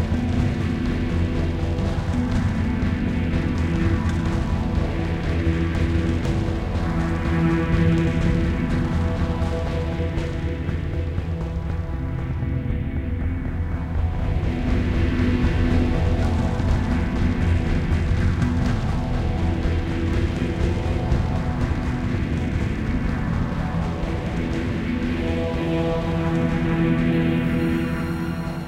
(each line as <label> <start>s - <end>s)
Drum Rhythms 0.0s - 12.4s
Drum Rhythms 14.0s - 28.2s